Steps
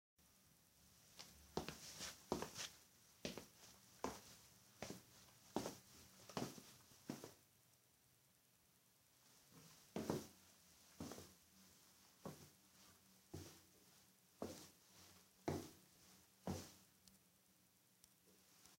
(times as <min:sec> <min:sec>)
0:01.2 0:07.4